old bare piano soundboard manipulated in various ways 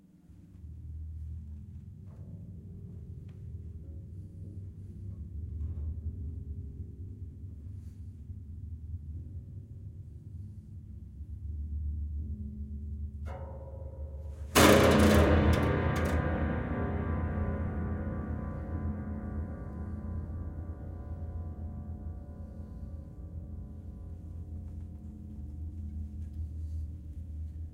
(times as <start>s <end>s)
13.3s 21.2s